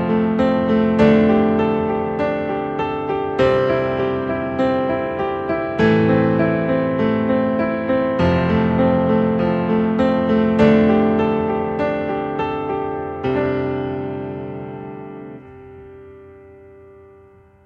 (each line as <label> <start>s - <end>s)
piano 0.0s - 17.6s